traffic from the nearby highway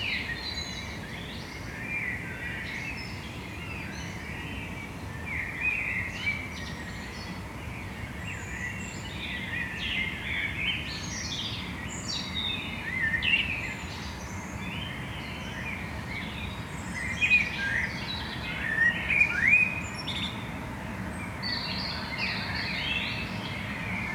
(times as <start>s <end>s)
12.7s 24.1s